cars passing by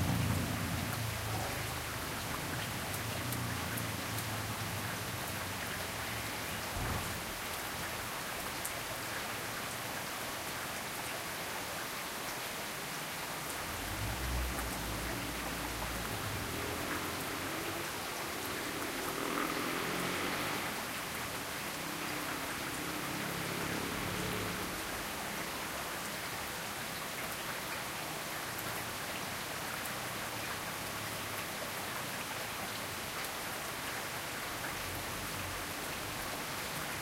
0.0 7.5, 13.3 27.3

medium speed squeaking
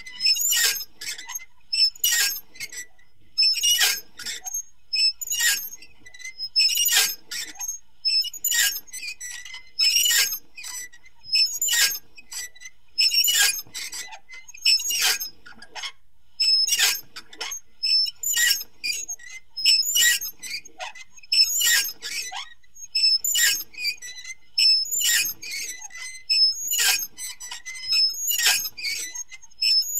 16.5 29.9

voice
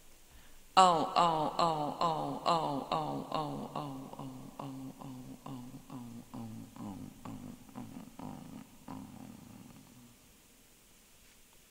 0.8 10.2

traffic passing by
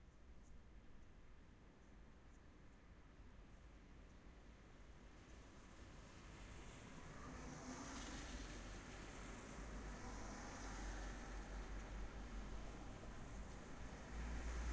7.1 14.7

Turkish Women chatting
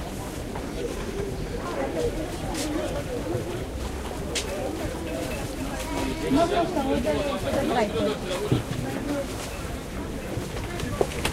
4.2 11.3

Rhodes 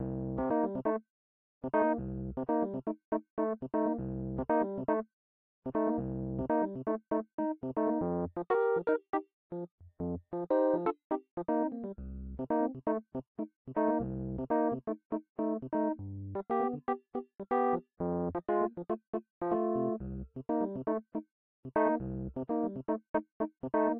19.5 20.0

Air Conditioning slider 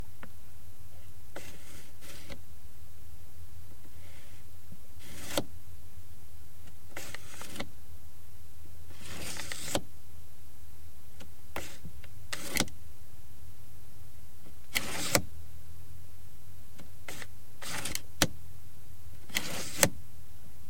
1.4 2.4, 5.0 5.5, 7.0 7.7, 8.9 9.8, 11.6 12.7, 14.7 15.3, 17.1 18.3, 19.3 20.0

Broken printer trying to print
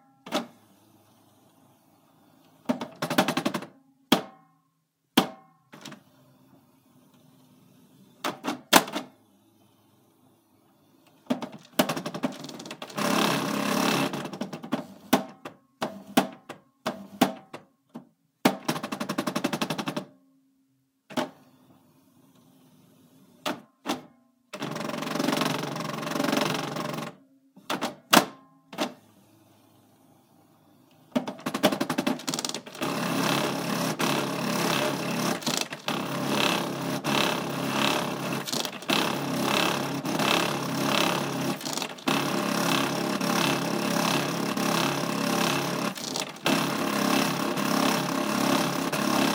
11.3 16.3, 31.1 49.3

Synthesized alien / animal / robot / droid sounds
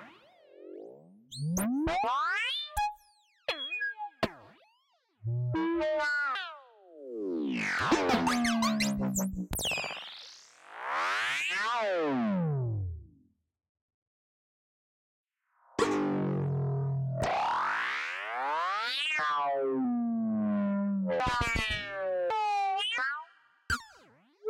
8.1 9.9

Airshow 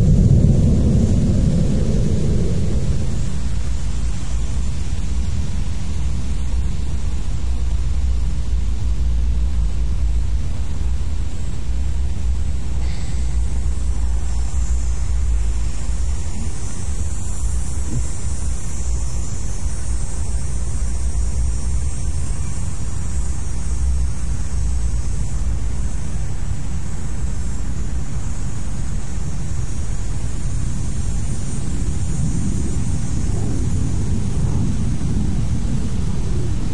0.0 5.6, 30.8 36.7

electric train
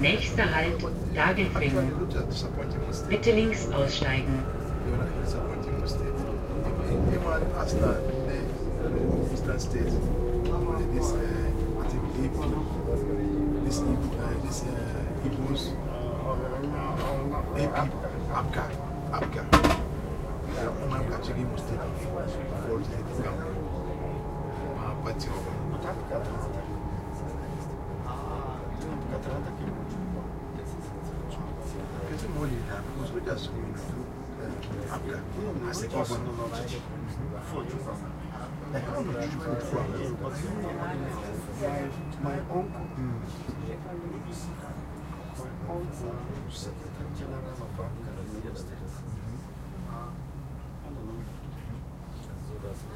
0.0 37.2

